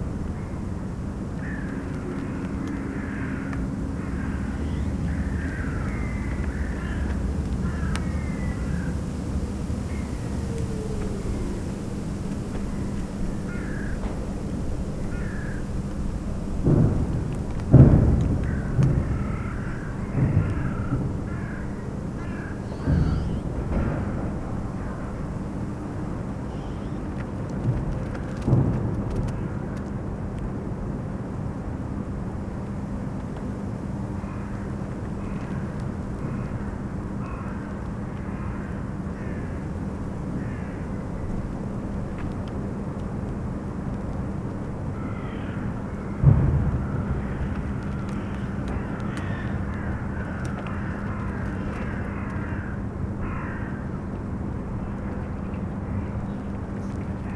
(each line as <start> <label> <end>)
0.0 distant sounds from the power station 57.3
0.0 tree rustling in the wind 57.3
1.3 crows 12.0
12.6 crows 16.4
18.0 crows 28.4
33.4 cracking ice of the frozen spree river 57.3
34.2 crows 41.6
44.8 crows 57.0